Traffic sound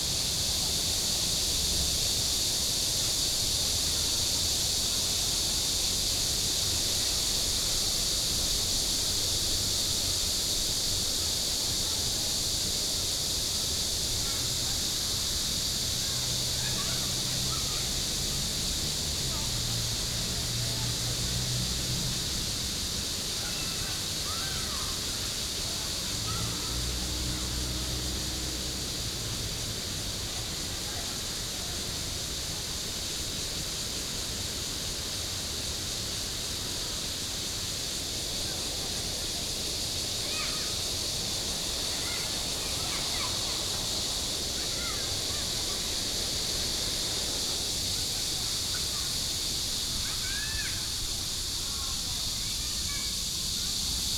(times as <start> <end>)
14.4 33.8, 34.4 54.1